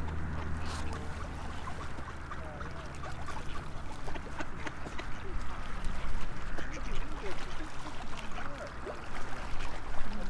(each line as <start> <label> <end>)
0.0 feeding the birds 10.2